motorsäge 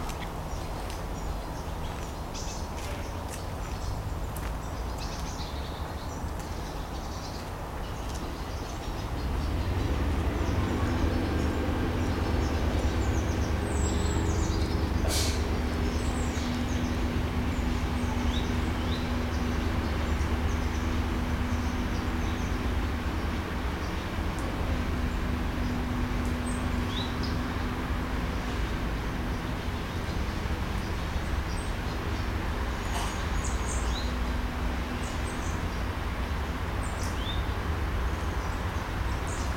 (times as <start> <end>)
8.2 39.5